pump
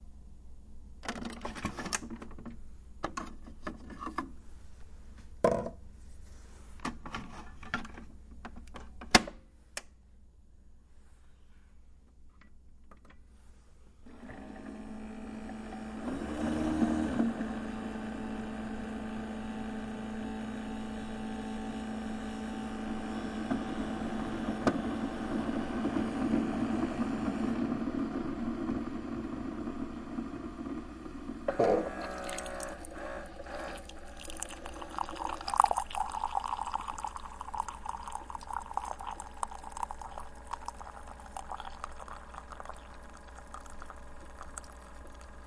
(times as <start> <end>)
14.0 28.8, 31.3 45.4